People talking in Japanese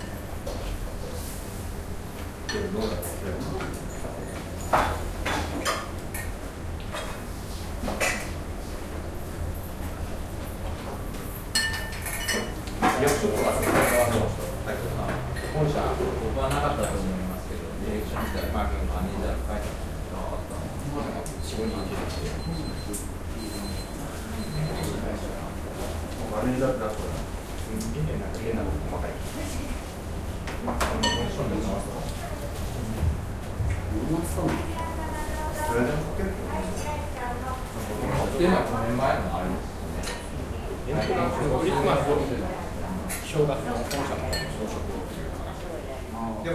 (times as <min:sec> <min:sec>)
0:33.9 0:46.5